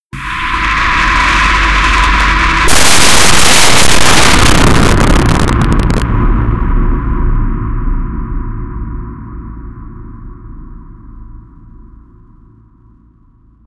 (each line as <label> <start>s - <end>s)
Distorted Explosion 0.2s - 10.5s